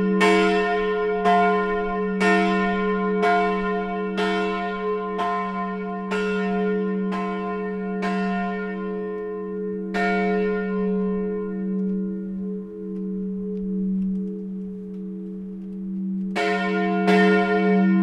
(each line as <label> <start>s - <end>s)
churchbells 0.0s - 18.0s